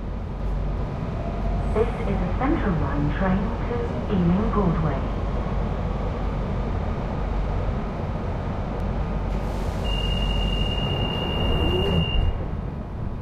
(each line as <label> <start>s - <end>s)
noise of the rails 0.0s - 13.2s
train 0.0s - 13.2s
recorded announcements 1.8s - 5.2s